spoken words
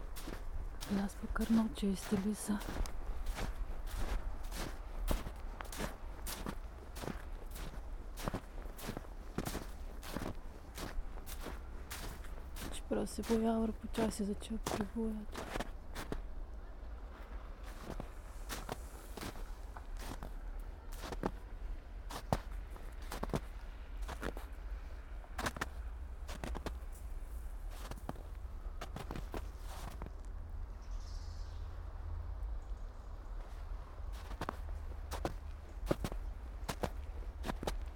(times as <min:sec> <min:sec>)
0:00.9 0:02.8, 0:12.7 0:15.4